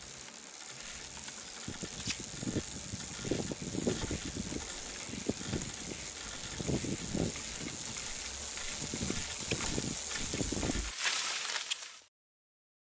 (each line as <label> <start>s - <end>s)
Mountain Bike Braking on Grass 0.0s - 12.1s